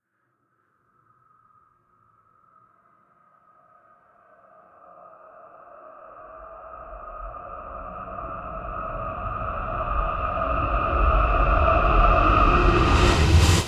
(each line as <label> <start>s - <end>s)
Dramatic Build up 12.4s - 13.6s